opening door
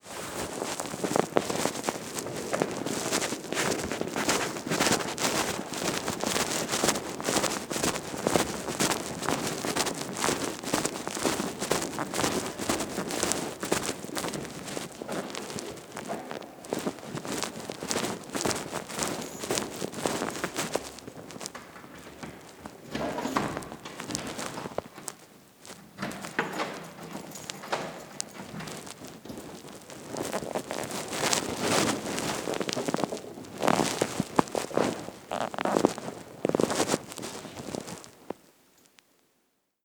21.6s 24.3s

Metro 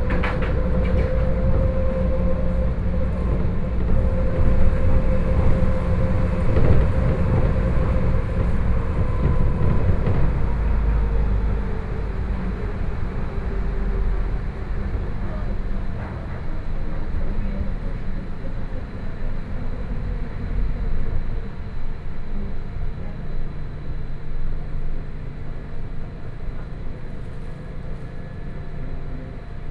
0.0s 17.4s

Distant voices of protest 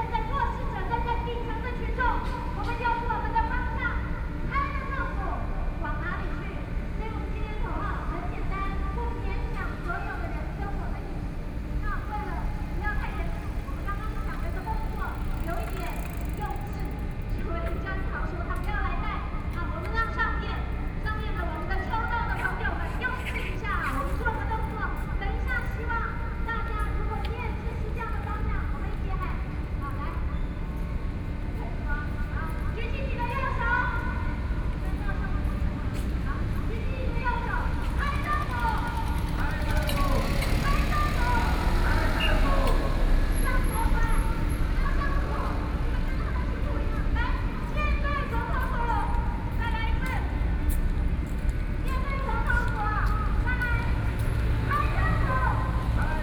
0.0s 18.4s, 32.7s 56.2s

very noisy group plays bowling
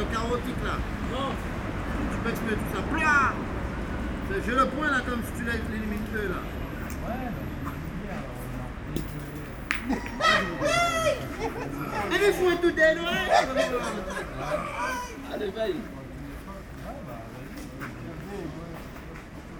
8.9s 13.6s

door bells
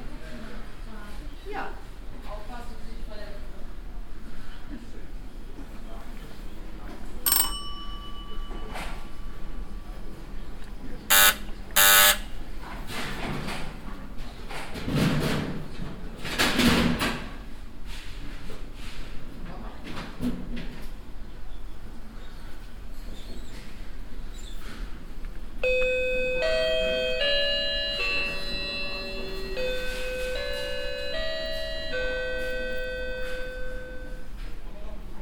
7.3s 9.5s, 11.1s 12.3s, 25.6s 34.3s

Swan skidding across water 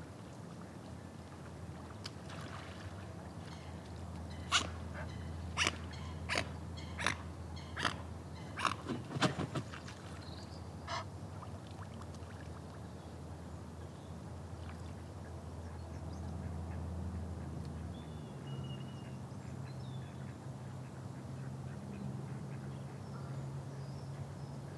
1.7s 7.2s

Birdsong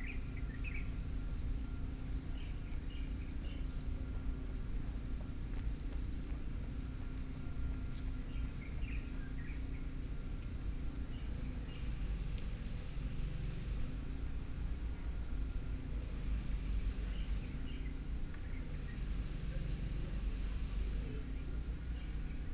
0.0s 1.4s

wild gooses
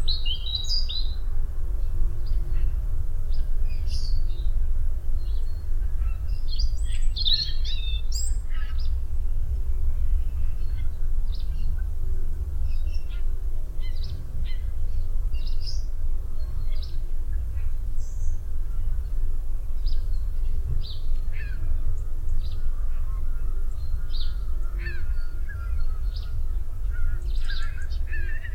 20.5s 28.5s

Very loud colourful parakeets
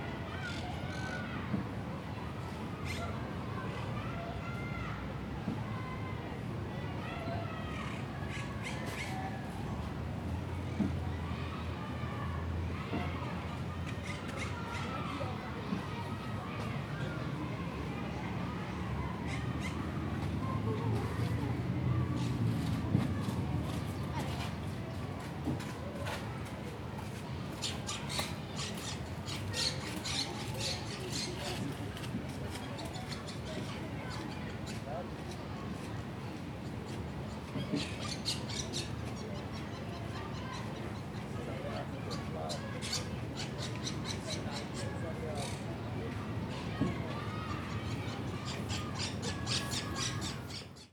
27.6s 31.6s, 37.6s 40.7s, 42.1s 45.6s, 47.2s 50.9s

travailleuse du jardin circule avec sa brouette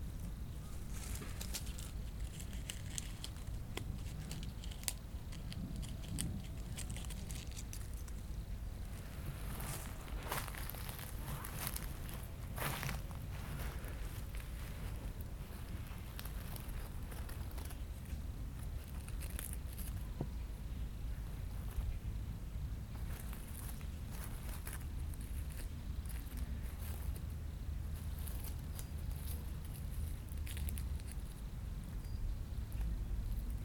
0.0s 20.3s

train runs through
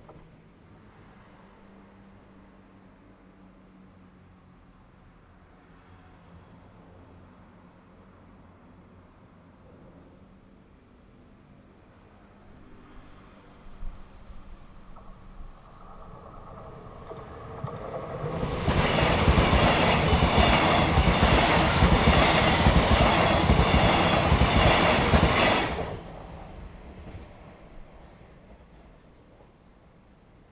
12.2s 30.5s

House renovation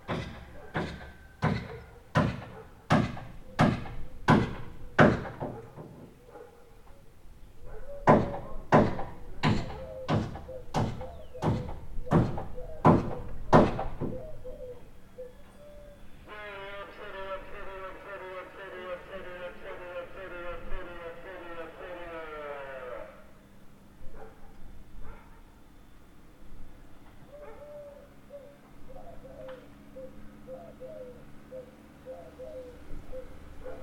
0.0s 6.2s, 8.0s 14.1s

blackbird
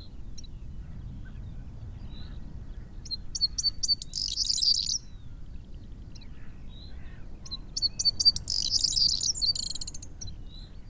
3.4s 5.1s, 6.9s 10.1s

